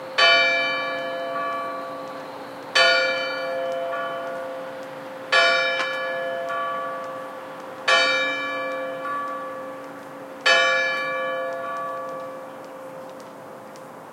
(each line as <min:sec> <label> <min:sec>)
0:00.0 church bell strikes 5 oclock 0:13.0